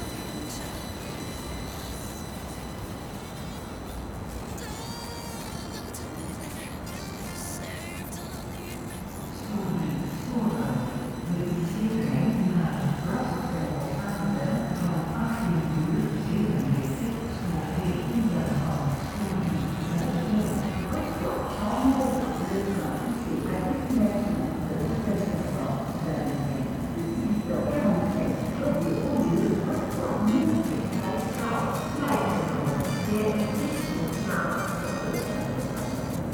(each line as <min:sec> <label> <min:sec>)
0:00.0 music 0:36.3
0:00.0 radio station 0:36.3
0:00.0 trains passing by 0:36.3
0:04.5 synthetic voice 0:10.9